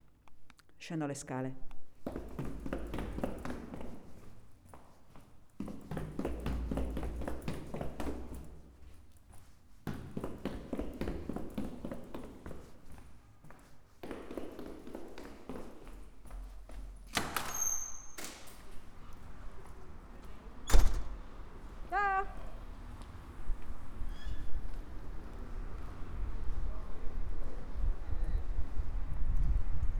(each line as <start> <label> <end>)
0.8 Italian female voice 1.7
1.6 footsteps echoing on each step 20.4
21.8 Italian female voice 22.6